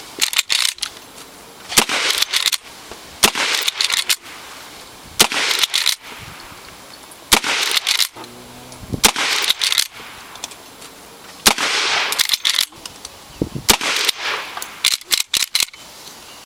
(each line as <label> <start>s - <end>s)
gunshot 1.8s - 2.4s
gunshot 3.2s - 3.9s
gunshot 5.2s - 6.2s
gunshot 7.3s - 8.0s
gunshot 9.0s - 10.2s
gunshot 11.4s - 12.2s
gunshot 13.7s - 14.6s